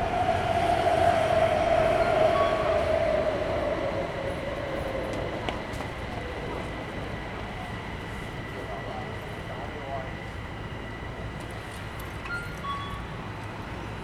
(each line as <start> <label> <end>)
0.0 Traffic Noise 8.7